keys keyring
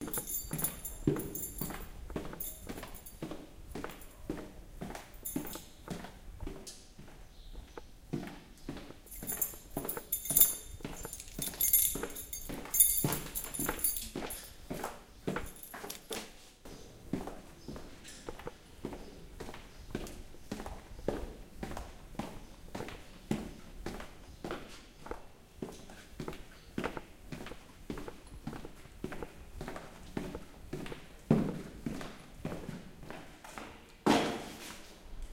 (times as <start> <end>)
0.0 3.2, 5.2 5.7, 9.1 14.6, 15.4 16.2